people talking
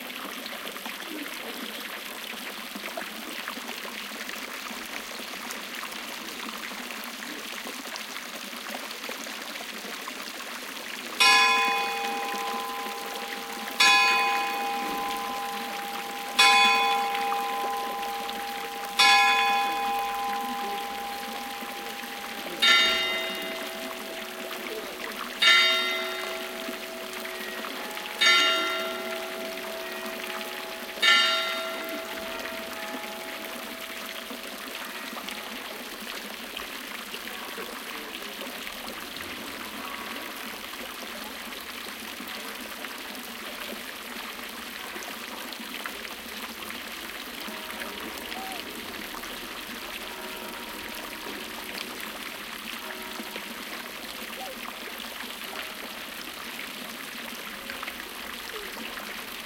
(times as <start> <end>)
11.2 29.0, 37.2 38.7, 47.8 48.8, 54.3 54.8, 57.5 59.0